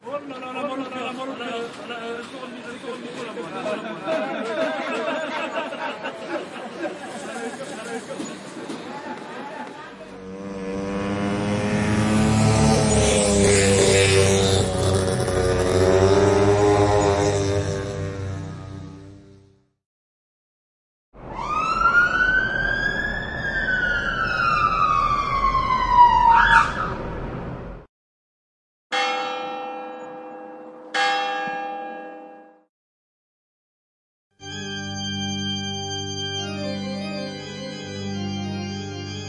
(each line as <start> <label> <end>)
0.0 crowd 10.1
34.4 organ 39.2